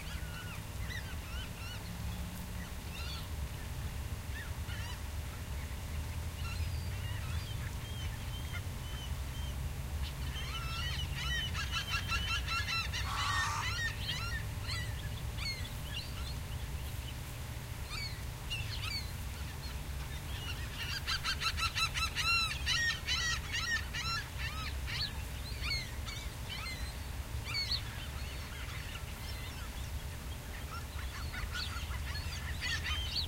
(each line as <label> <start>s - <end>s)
several species of birds calling 0.0s - 5.1s
several species of birds calling 6.4s - 33.2s
seagull 10.4s - 14.9s